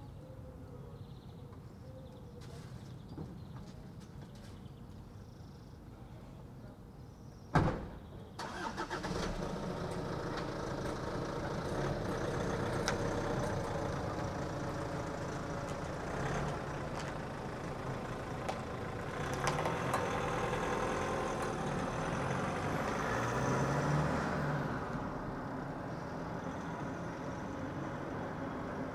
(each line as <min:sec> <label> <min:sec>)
0:07.5 door slamming 0:08.0
0:08.3 cars 0:28.9